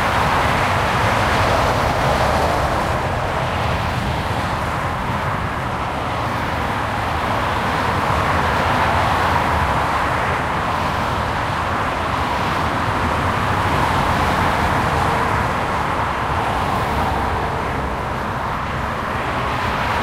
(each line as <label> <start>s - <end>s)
busy highway 0.0s - 20.0s